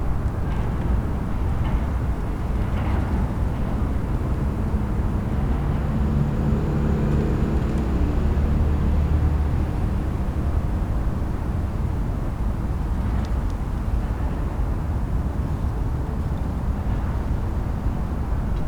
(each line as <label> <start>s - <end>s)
local trains passing by 0.0s - 13.0s
distant drone of traffic 0.0s - 18.6s